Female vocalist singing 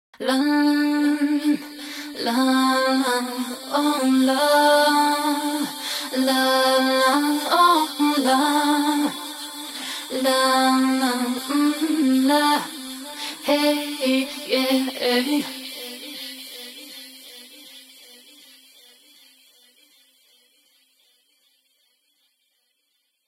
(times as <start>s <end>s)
0.2s 17.6s